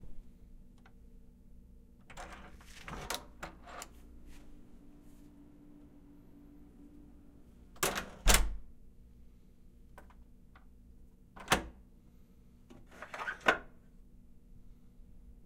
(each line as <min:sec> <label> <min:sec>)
0:02.1 Opening and closing doors 0:04.0
0:07.7 Opening and closing doors 0:08.7
0:11.4 Opening and closing doors 0:11.8